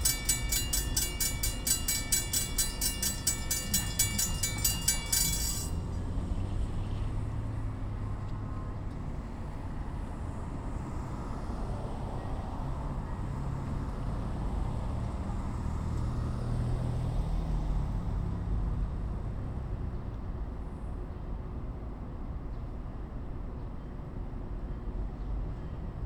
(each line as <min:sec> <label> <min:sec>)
0:00.0 railroad crossing 0:22.4